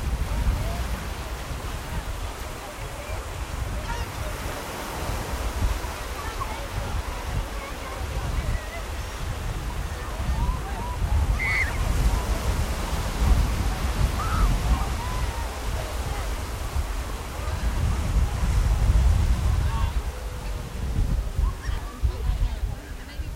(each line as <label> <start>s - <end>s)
Beach goers 0.0s - 23.3s
surf 0.0s - 23.3s
gulls 11.4s - 11.9s